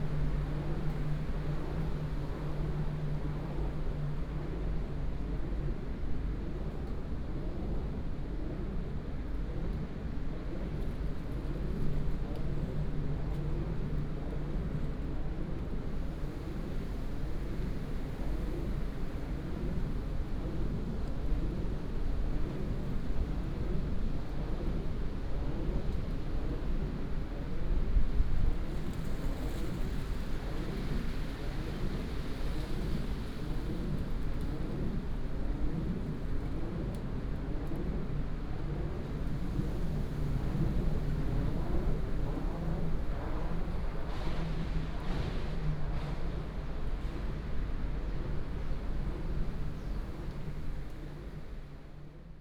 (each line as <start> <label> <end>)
0.0 wind 52.4
11.3 Wind Turbines 52.4